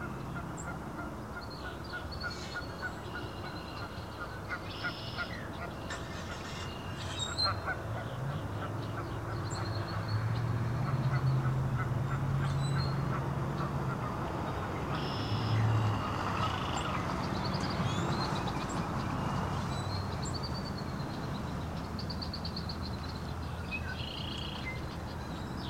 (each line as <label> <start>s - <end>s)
waterfowl 0.0s - 10.1s
songbirds call to each other 0.0s - 13.8s
waterfowl 10.8s - 17.1s
songbirds call to each other 14.4s - 25.6s